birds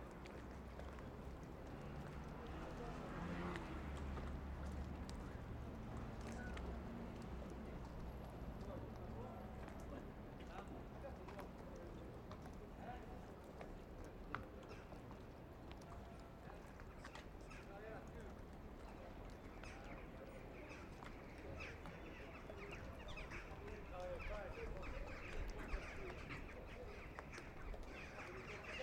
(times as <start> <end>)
14.5 28.8